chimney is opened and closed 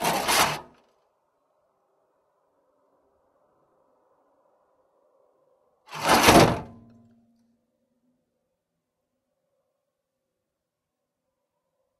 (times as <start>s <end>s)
0.0s 0.8s, 5.9s 6.9s